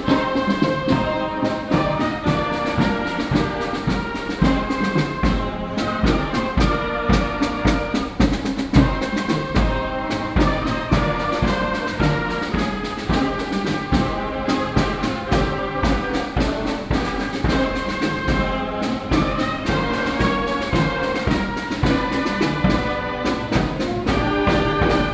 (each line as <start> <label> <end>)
0.0 Female high school music performers instrument 25.1